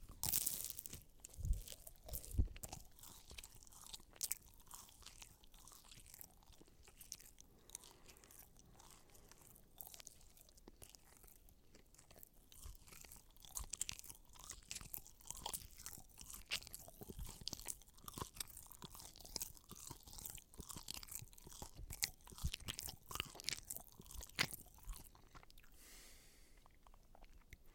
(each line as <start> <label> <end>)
0.0 Chewing 27.7